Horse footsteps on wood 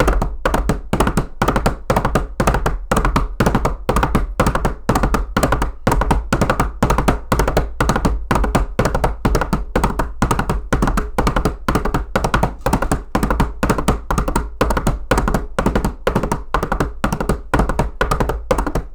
0:11.3 0:18.9

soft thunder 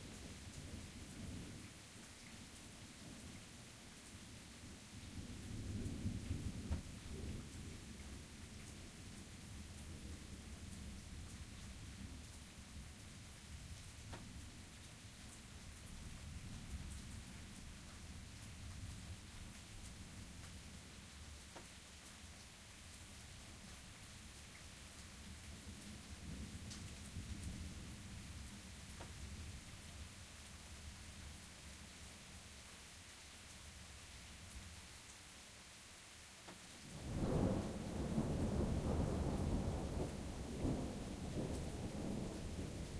0:05.0 0:11.9, 0:36.9 0:42.9

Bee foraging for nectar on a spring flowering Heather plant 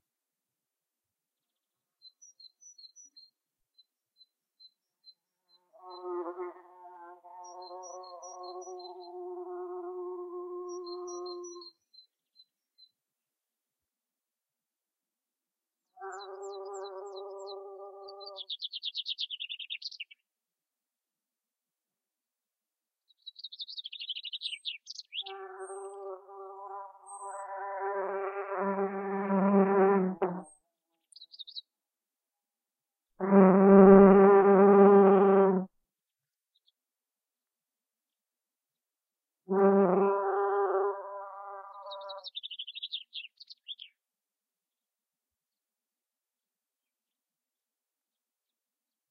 0:05.8 0:11.7, 0:16.0 0:18.6

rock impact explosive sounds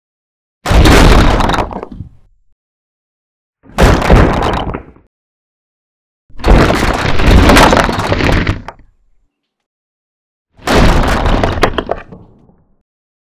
0:00.7 0:01.8, 0:03.7 0:05.0, 0:06.3 0:08.8, 0:10.6 0:12.0

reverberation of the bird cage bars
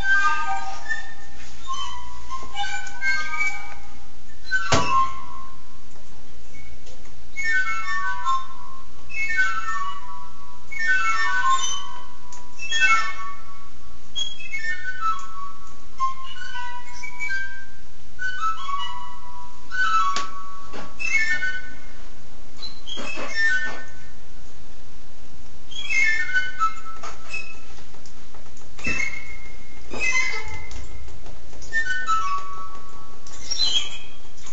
0:22.6 0:23.9, 0:33.2 0:34.5

